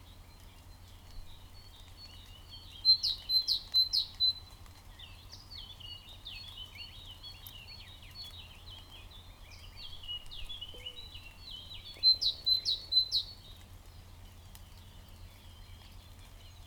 waterdrops falling from willow trees 0:09.7 - 0:16.6

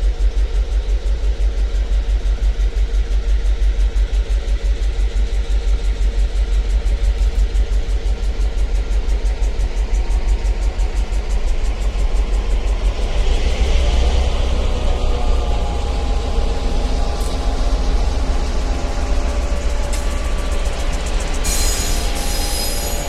freight train 0:00.0 - 0:23.0
revving engines 0:10.8 - 0:23.0

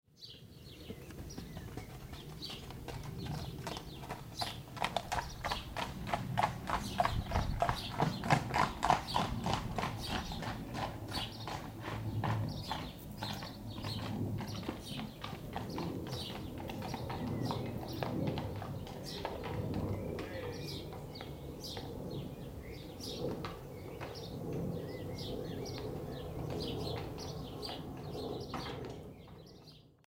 horses 0:00.2 - 0:29.9
man running to the shelter 0:00.3 - 0:22.0
thunderstorm 0:05.1 - 0:11.5

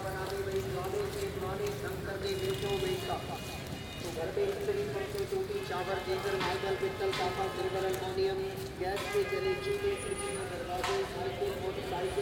market seller with a small portable PA system 0:00.0 - 0:12.2

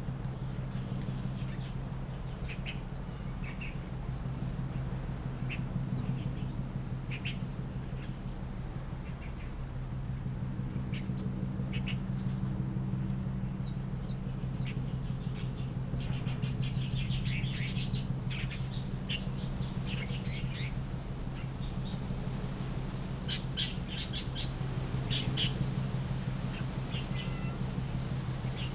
Boats traveling 0:00.0 - 0:28.7
Wind 0:00.0 - 0:28.7
Birds singing 0:05.4 - 0:09.7
Birds singing 0:12.8 - 0:28.7

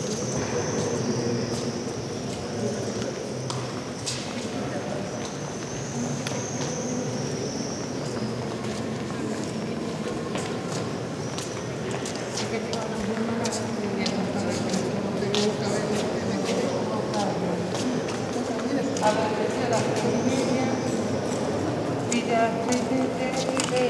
people 0:00.0 - 0:23.8

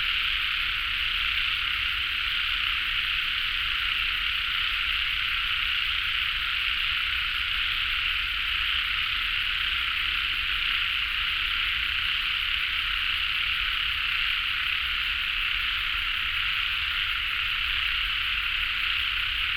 Frogs sound 0:00.0 - 0:19.5

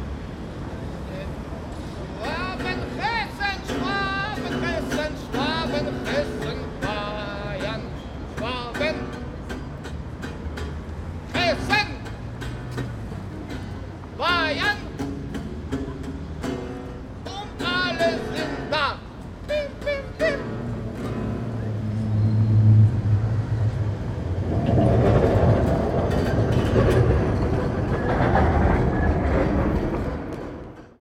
crazy guy is singing weird things 0:02.2 - 0:09.2
crazy guy is singing weird things 0:17.2 - 0:20.6

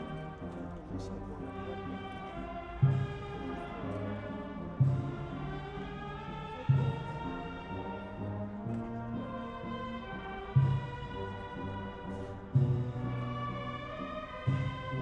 passion play procession 0:00.0 - 0:15.0

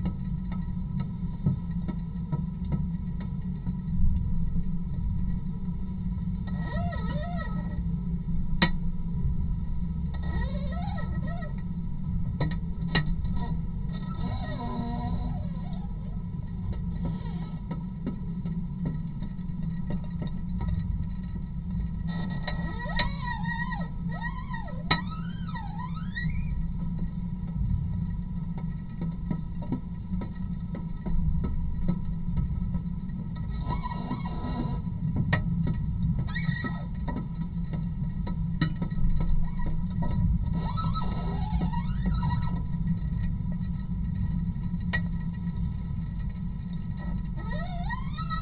rain drops 0:00.0 - 0:48.4

